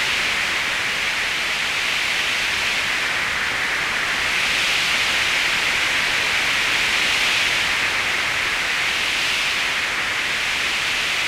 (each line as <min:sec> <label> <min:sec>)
0:00.0 Arctic Winds 0:11.2